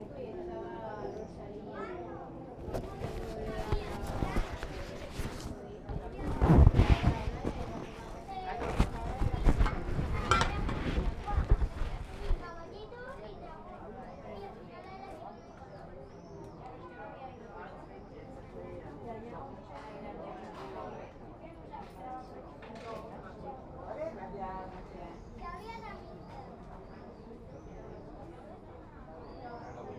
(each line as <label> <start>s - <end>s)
crowd 0.0s - 29.9s
sillas 2.6s - 13.5s